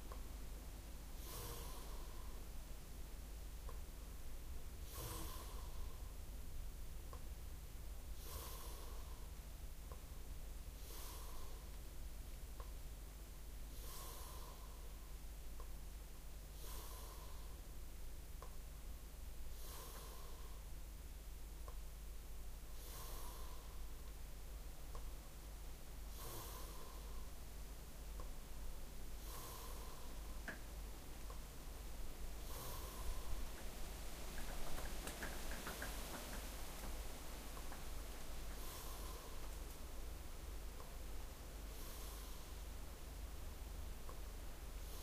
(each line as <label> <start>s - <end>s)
breath 1.2s - 2.5s
breath 4.8s - 6.2s
breath 8.1s - 9.4s
breath 10.8s - 11.8s
breath 13.7s - 15.1s
breath 16.5s - 17.8s
breath 19.5s - 20.8s
breath 22.6s - 24.2s
breath 26.0s - 27.4s
breath 29.1s - 30.6s
wind moving the wet trees 31.5s - 38.6s
breath 32.4s - 33.6s
Drips of water are falling on the roof 34.3s - 37.0s
breath 37.6s - 39.7s
breath 41.6s - 42.8s
breath 44.8s - 45.0s